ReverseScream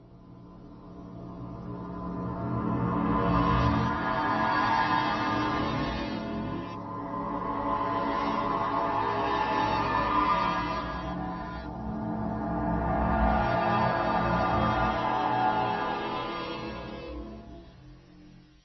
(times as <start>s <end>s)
2.9s 17.8s